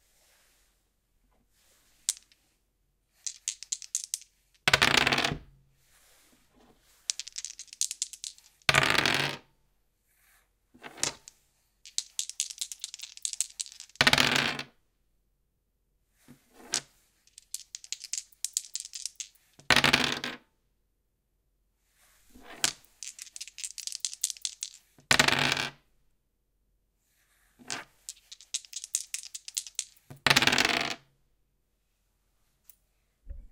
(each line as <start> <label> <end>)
2.0 Rolling a single twenty-sided plastic die on a wooden desk 2.4
2.0 two dice being shaken and rolled together 2.4
3.2 two dice being shaken and rolled together 5.4
3.2 Rolling a single twenty-sided plastic die on a wooden desk 5.4
7.0 two dice being shaken and rolled together 9.4
7.1 Rolling a single twenty-sided plastic die on a wooden desk 9.4
10.9 two dice being shaken and rolled together 11.3
11.9 two dice being shaken and rolled together 14.6
11.9 Rolling a single twenty-sided plastic die on a wooden desk 14.7
16.6 two dice being shaken and rolled together 20.3
16.6 Rolling a single twenty-sided plastic die on a wooden desk 20.4
22.4 two dice being shaken and rolled together 25.8
22.4 Rolling a single twenty-sided plastic die on a wooden desk 25.8
27.6 Rolling a single twenty-sided plastic die on a wooden desk 31.1
27.7 two dice being shaken and rolled together 31.0